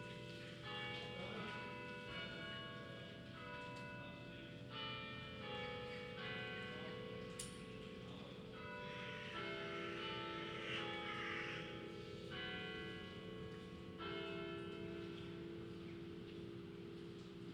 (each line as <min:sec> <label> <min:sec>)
0:00.0 Church bells 0:17.5
0:00.0 pedestrians 0:17.5